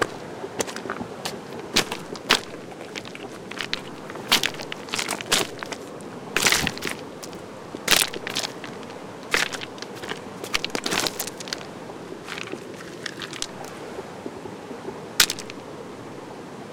0.0s stream 16.7s
0.0s waterfall 16.7s

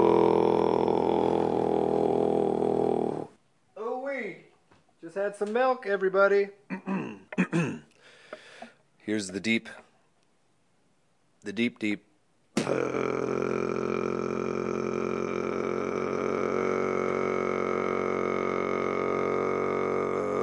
0.0s Tuvan-esque throat singing 3.4s
12.6s Tuvan-esque throat singing 20.4s
12.6s beatboxing 20.4s

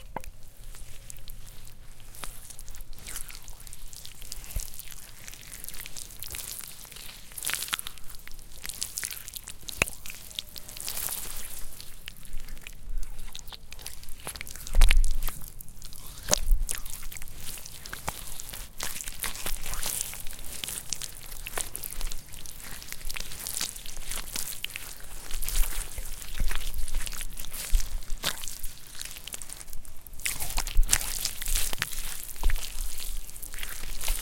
16.0s hands sloshing around in wet mud 34.2s

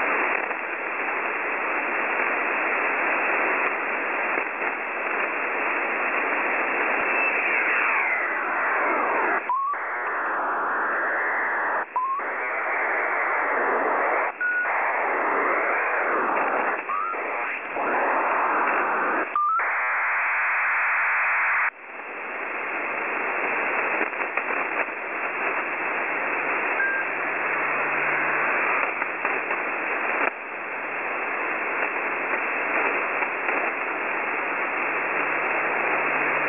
0.0s data transmission 36.4s

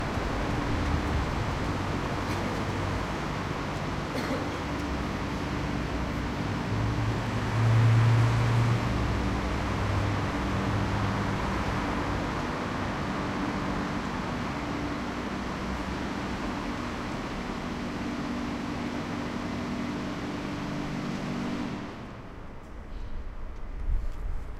0.0s cars 24.5s
0.0s humming is probably from the car washing system 24.5s

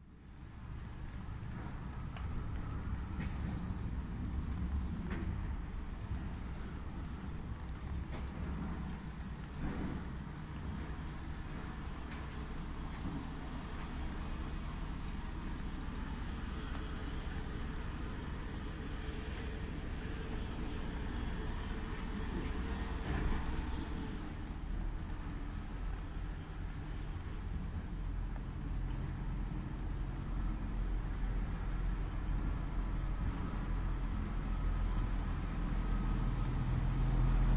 0.0s Passing by cars and trucks 37.5s

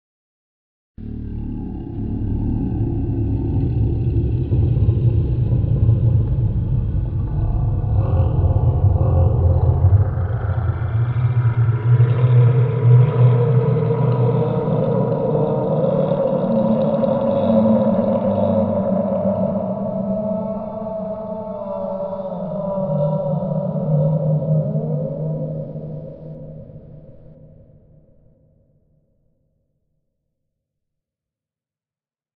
7.0s Distant monster Calling 26.8s

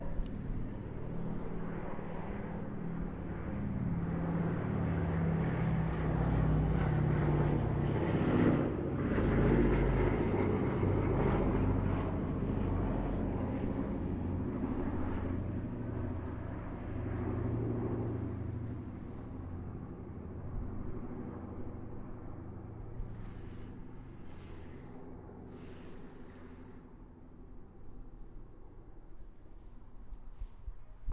0.0s B17 Flying Fortress 31.1s

